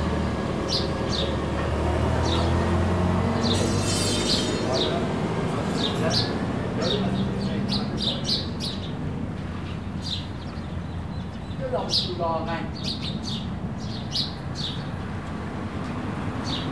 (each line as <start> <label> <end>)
0.3 Fishermen making metal cages 8.7